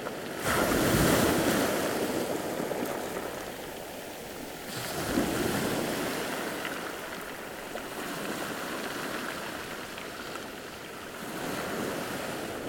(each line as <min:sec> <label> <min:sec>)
0:00.0 Waves are big and strong 0:12.6